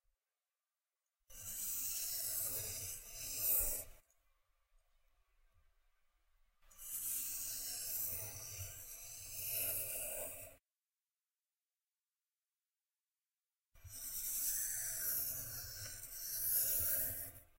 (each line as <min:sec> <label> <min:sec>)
0:01.3 pencil sliding on paper 0:04.0
0:06.7 pencil sliding on paper 0:10.6
0:13.8 pencil sliding on paper 0:17.5